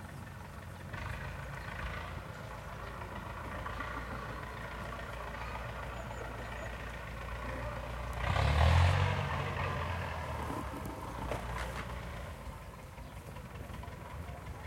chaining a tractor to a tree and yanking at it 0.0 - 14.6
people are going about their business 0.0 - 14.6
harvesting walnuts 6.5 - 14.6

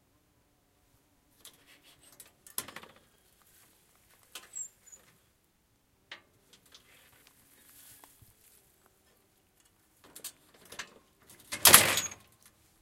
Opening and closing a gate 1.4 - 3.4
Opening and closing a gate 4.3 - 5.3
Opening and closing a gate 6.1 - 8.1
Opening and closing a gate 9.6 - 12.6

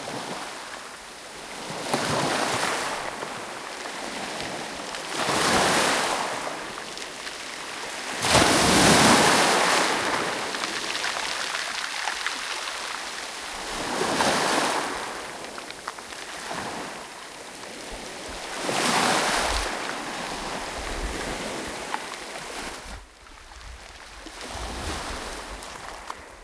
sea waves crushing in a beach 0.0 - 26.4

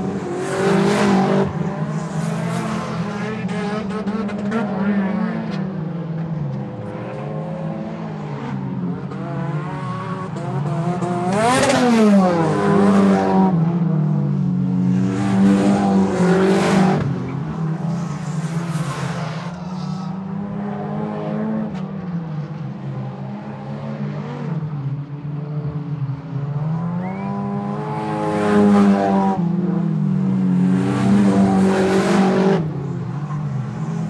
Cars Racing 0.0 - 34.0

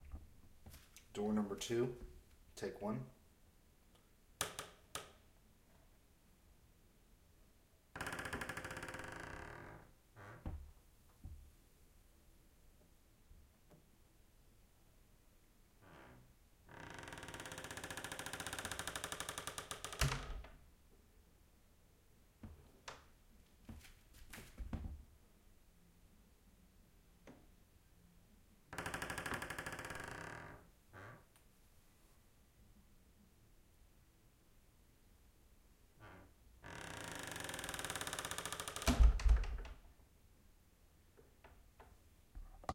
Door Creak 8.0 - 10.6
Door Creak 15.8 - 20.5
Door Creak 28.8 - 31.3
Door Creak 36.0 - 39.8

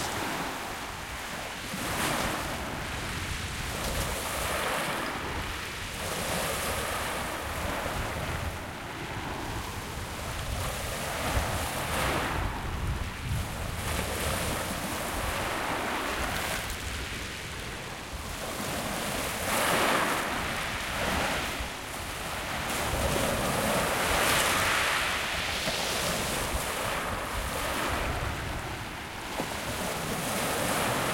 Waves Real Shingle 0.0 - 31.1

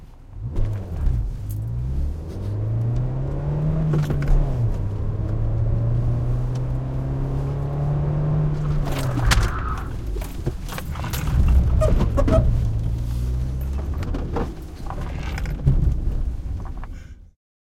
car interior accelerating and breaking suddenly 0.4 - 16.9
suspension and tire squeek 8.2 - 15.7
Objects inside car bump 8.6 - 13.0
keys in ignition rattle 8.8 - 12.7
keys in ignition rattle 13.4 - 15.7
Objects inside car bump 13.6 - 16.9

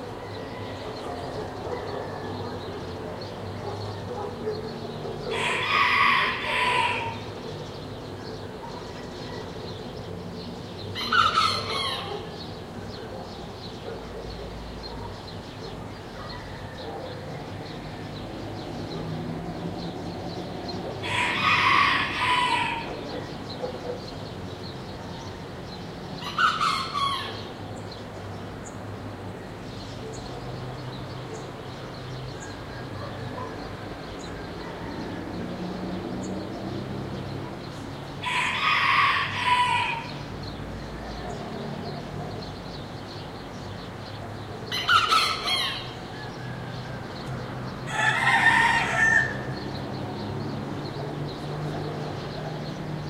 roosters crowing 0.0 - 2.9
birds chirping 0.0 - 53.0
soft traffic noise 0.0 - 53.0
roosters crowing 5.2 - 7.8
roosters crowing 10.9 - 12.6
roosters crowing 20.8 - 23.6
roosters crowing 26.2 - 27.6
roosters crowing 32.5 - 35.9
roosters crowing 38.2 - 41.3
roosters crowing 44.6 - 51.4

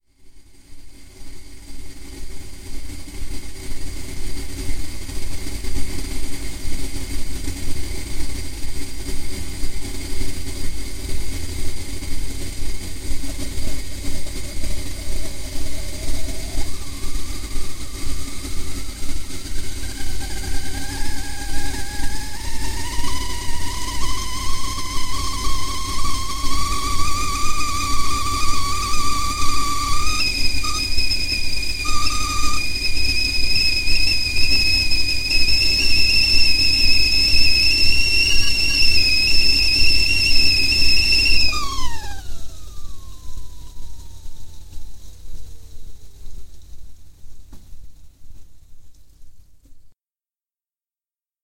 Coming to the boil 0.6 - 49.9
whistling 13.3 - 45.0

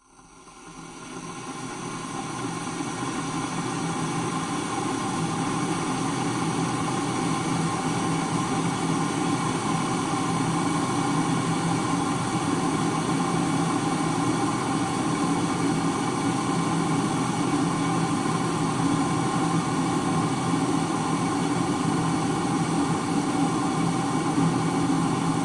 Kettle Boil 0.0 - 25.4

